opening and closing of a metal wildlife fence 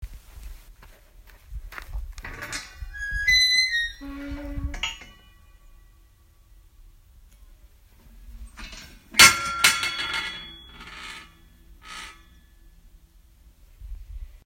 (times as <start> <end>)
2.2 5.3, 8.0 12.4